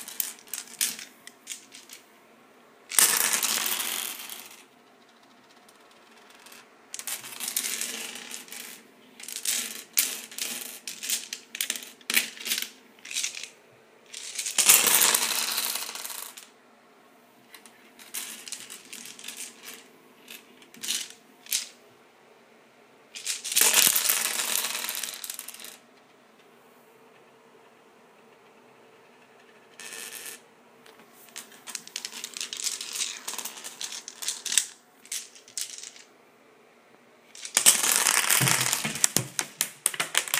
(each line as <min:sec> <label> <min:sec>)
0:00.0 various dice rolling on a tile surface 0:02.1
0:02.9 various dice rolling on a tile surface 0:16.6
0:17.5 various dice rolling on a tile surface 0:21.8
0:23.2 various dice rolling on a tile surface 0:26.5
0:27.1 various dice rolling on a tile surface 0:36.1
0:37.3 various dice rolling on a tile surface 0:40.3